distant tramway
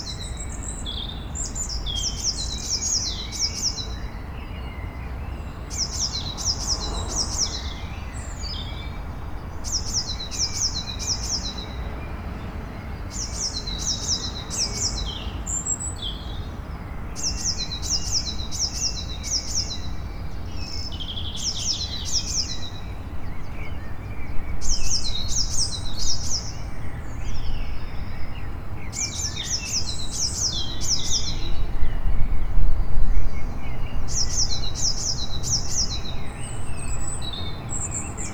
5.7s 15.8s, 19.3s 38.3s

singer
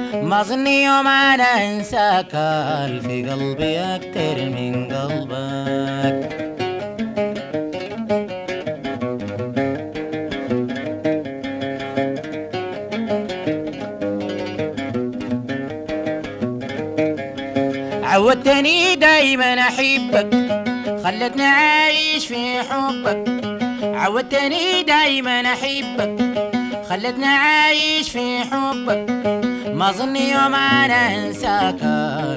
0.0s 6.4s, 18.0s 32.3s

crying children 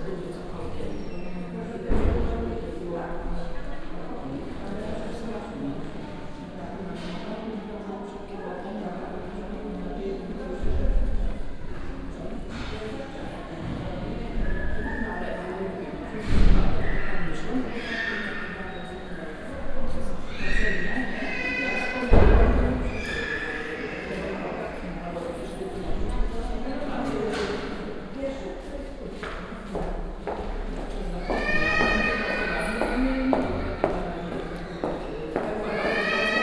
20.2s 22.1s, 22.9s 24.6s, 31.2s 34.0s, 35.6s 36.4s

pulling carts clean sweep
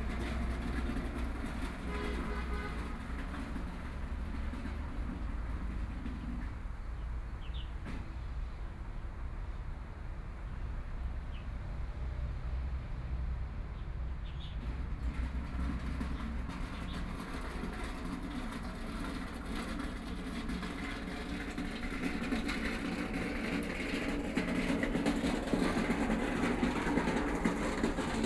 0.0s 6.6s, 14.6s 28.2s

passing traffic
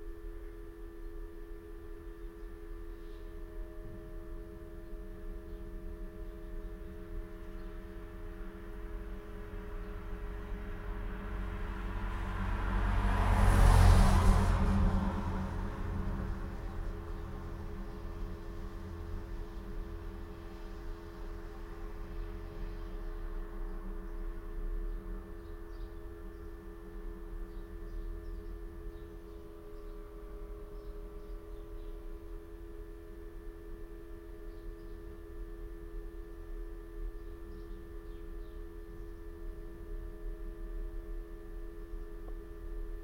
7.8s 26.3s

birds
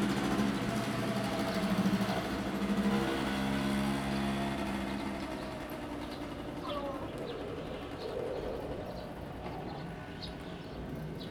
6.0s 11.3s

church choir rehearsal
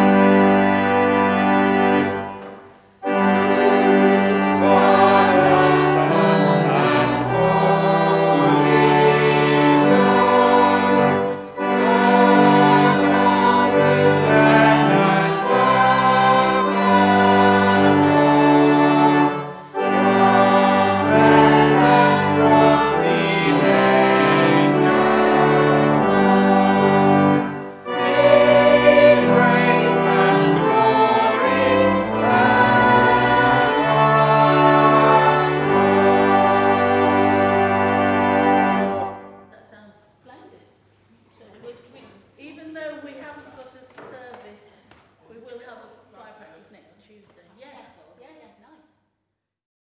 0.0s 39.6s

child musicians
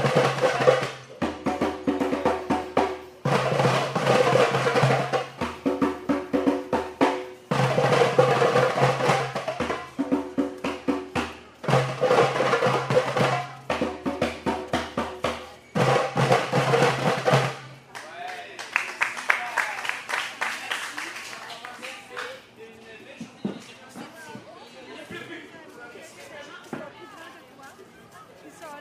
0.0s 17.6s

